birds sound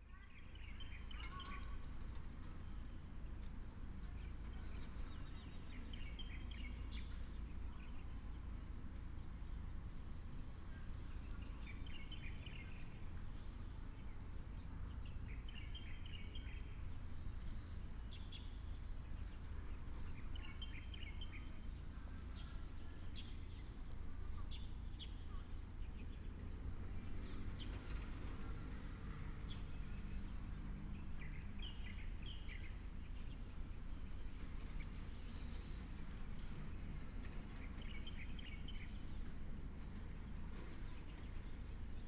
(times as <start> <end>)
9.9 42.0